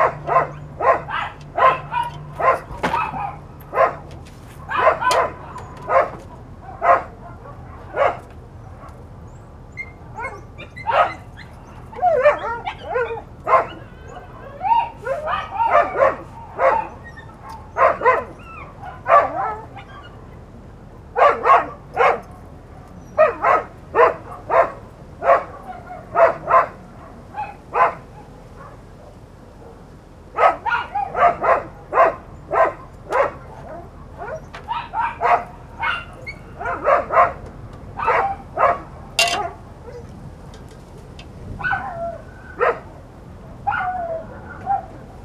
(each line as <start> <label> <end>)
0.0 Dog barking 9.0
0.0 Light voices of neighbors 45.2
0.0 light wind 45.2
10.2 Dog barking 20.2
21.2 Dog barking 29.8
30.4 Dog barking 37.4
38.0 Dog barking 40.1
41.6 Dog barking 42.9
43.6 Dog barking 45.1